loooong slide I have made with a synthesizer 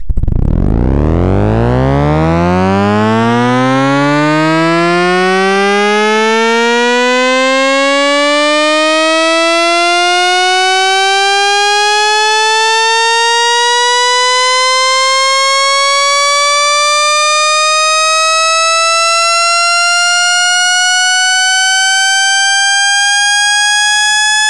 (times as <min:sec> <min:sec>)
0:00.0 0:07.5